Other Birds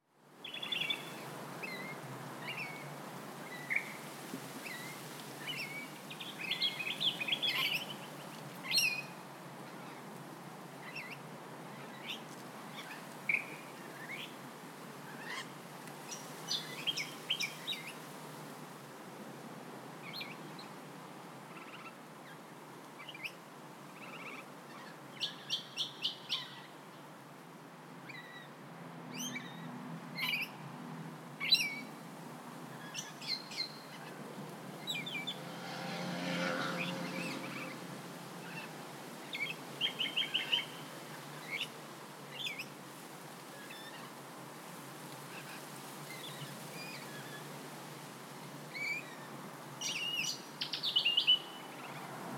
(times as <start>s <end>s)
4.6s 9.2s, 32.7s 42.8s